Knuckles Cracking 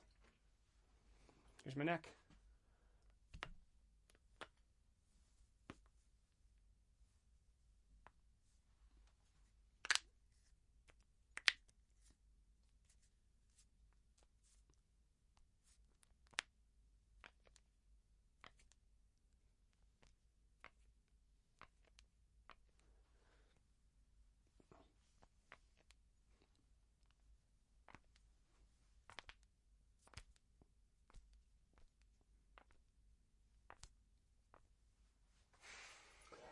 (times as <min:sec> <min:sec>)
0:03.0 0:04.6, 0:09.8 0:10.1, 0:10.8 0:11.8, 0:15.9 0:16.6, 0:17.2 0:17.7, 0:21.6 0:22.8, 0:27.8 0:28.2, 0:29.0 0:32.9, 0:33.6 0:34.7